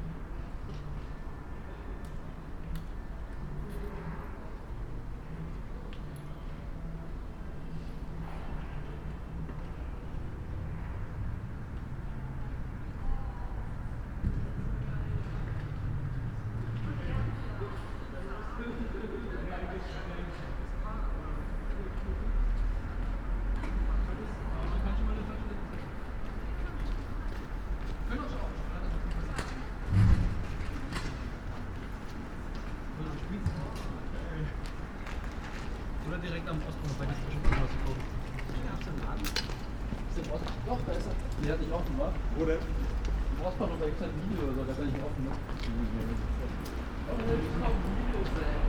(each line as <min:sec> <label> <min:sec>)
0:21.1 cars passing by 0:48.6